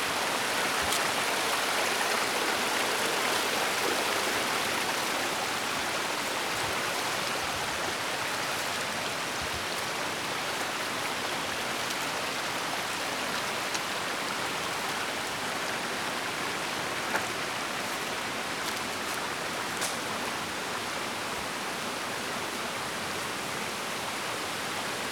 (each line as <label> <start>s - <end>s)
water is really gushing 0.0s - 20.7s
walking up the hill 16.8s - 20.5s